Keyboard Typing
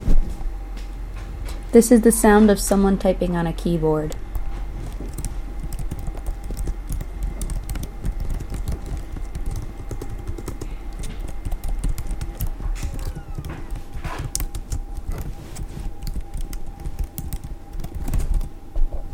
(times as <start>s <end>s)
4.1s 18.6s